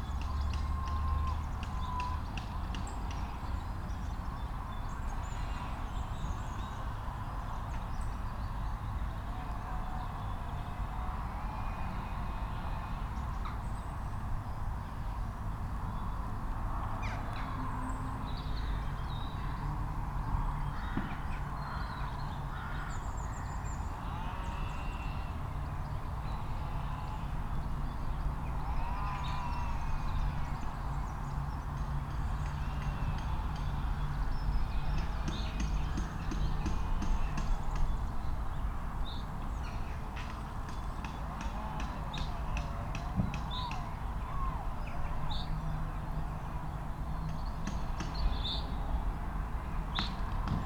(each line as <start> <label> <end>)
20.7 crow 23.5